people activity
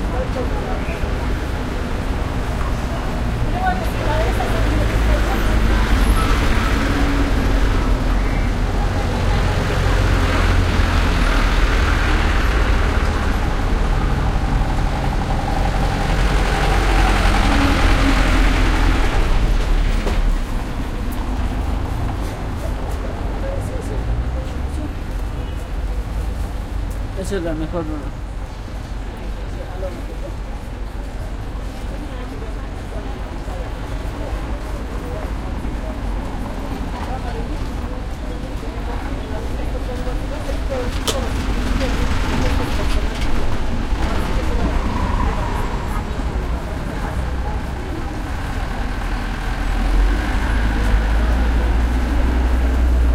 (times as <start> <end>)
17.0 27.2, 28.5 53.1